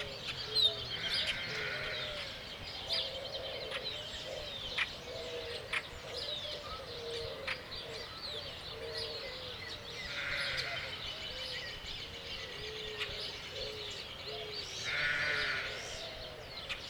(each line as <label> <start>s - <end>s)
birds 0.0s - 16.8s
wind 0.0s - 16.8s
lambs 1.0s - 2.0s
lambs 10.1s - 10.8s
lambs 14.8s - 15.8s